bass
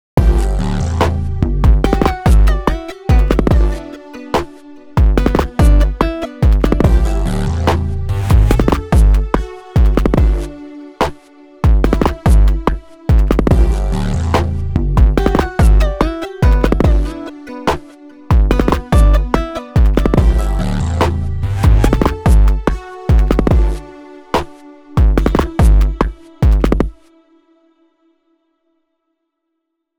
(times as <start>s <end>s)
0.1s 3.8s, 5.0s 10.5s, 11.8s 17.1s, 18.3s 23.8s, 25.0s 26.9s